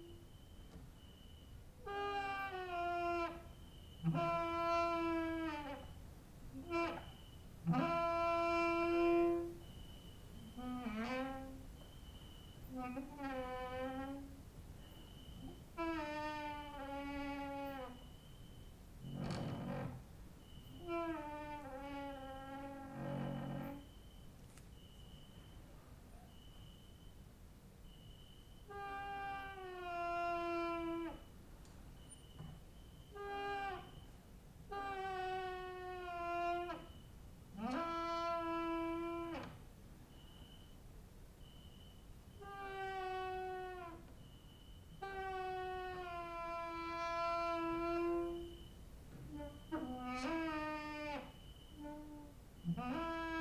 cricket outside 0:00.0 - 0:06.1
creaking with wooden doors 0:00.0 - 0:25.3
cricket outside 0:06.8 - 0:34.4
creaking with wooden doors 0:28.6 - 0:40.6
cricket outside 0:35.0 - 0:37.3
cricket outside 0:40.0 - 0:53.4
creaking with wooden doors 0:41.4 - 0:53.4

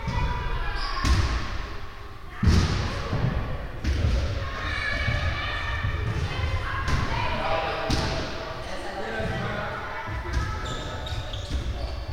people 0:00.0 - 0:12.1

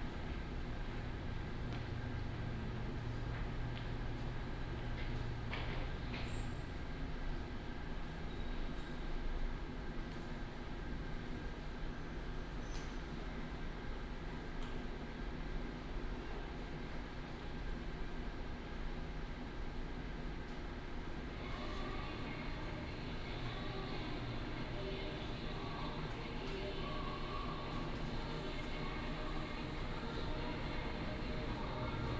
The train passed 0:21.2 - 0:32.1

